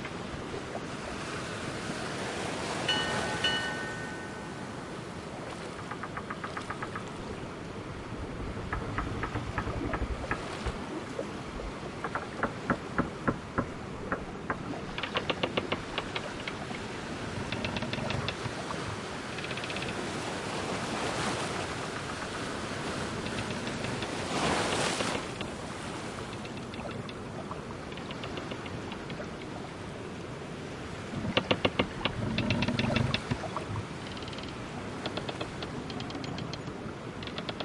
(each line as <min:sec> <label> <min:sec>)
0:00.0 PIrate Ship at Bay 0:37.6
0:00.0 ocean 0:37.6
0:02.8 bell 0:04.7